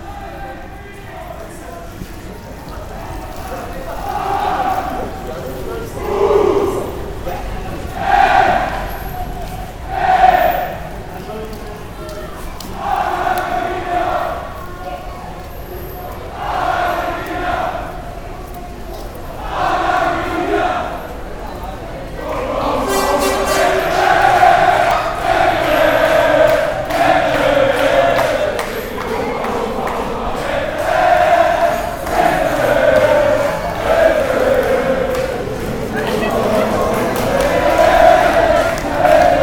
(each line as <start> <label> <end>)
0.0 soccer fans 39.4